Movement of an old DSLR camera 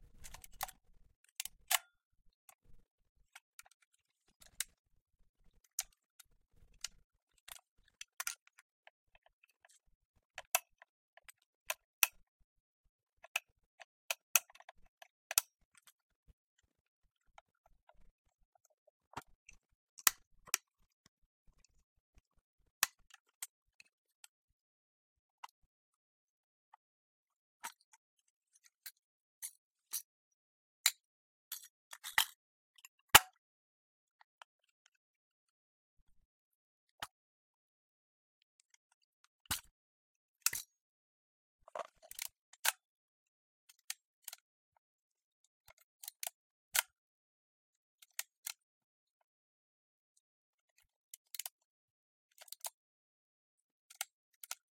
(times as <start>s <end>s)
0.0s 1.8s